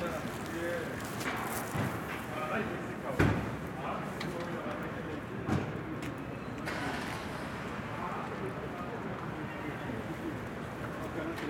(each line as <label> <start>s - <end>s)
street vendors and clients 0.0s - 11.4s